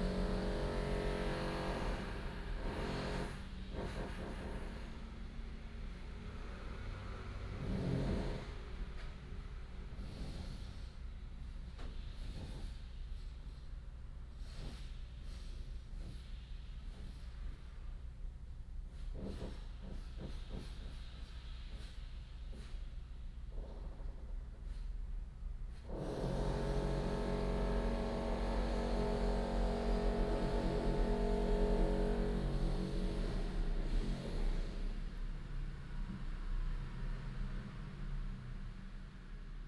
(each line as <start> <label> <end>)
26.2 Construction noise 35.1